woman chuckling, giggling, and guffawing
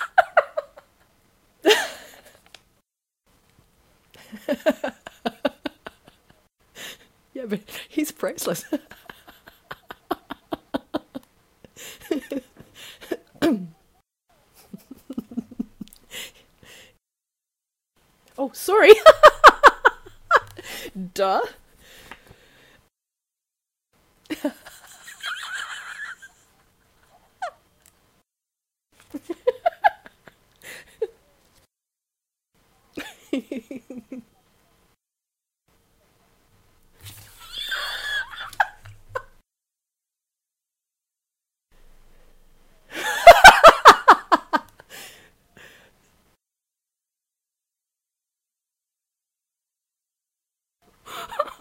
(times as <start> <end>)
0.0 2.6, 4.1 13.8, 14.4 16.9, 18.8 21.5, 24.3 27.8, 29.0 31.3, 32.9 34.5, 37.2 39.4, 42.9 45.2, 51.0 51.6